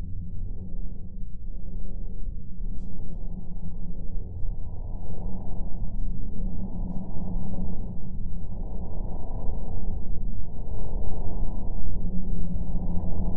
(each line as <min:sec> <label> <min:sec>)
0:00.0 drone 0:13.3